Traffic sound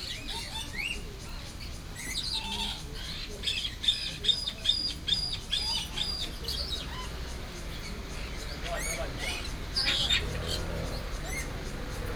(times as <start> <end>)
5.9 12.1